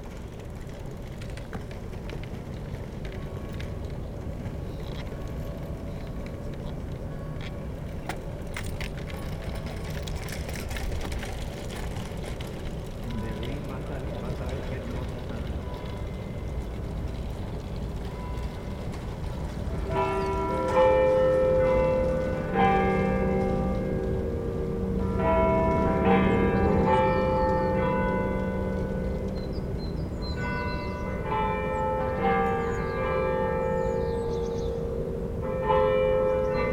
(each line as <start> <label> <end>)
13.0 Bells ringing hour 36.7